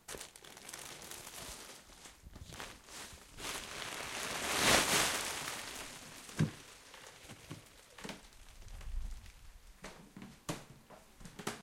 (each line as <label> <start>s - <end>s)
Plastic crumple 0.0s - 9.5s
cloth 0.4s - 8.0s